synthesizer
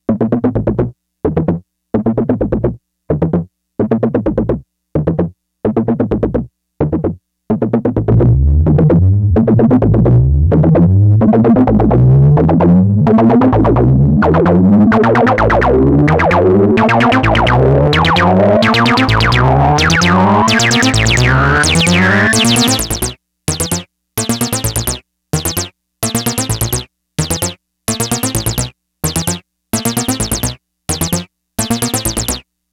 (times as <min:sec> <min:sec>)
0:08.8 0:32.4